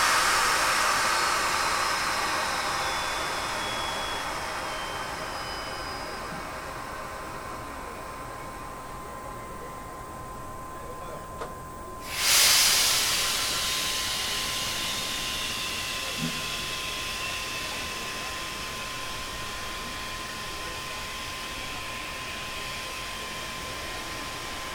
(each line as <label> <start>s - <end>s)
mecanique de train 0.0s - 24.7s